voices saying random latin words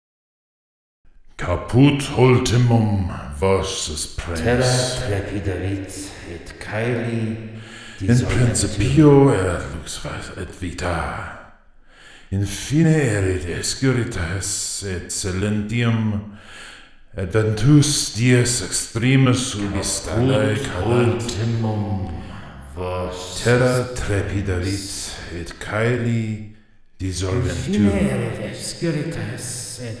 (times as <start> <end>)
1.4 11.4, 17.2 26.4, 27.0 30.0